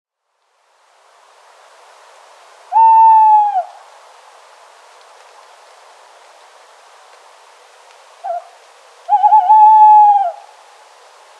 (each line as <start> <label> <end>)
2.7 tawny owl 3.8
8.2 tawny owl 10.6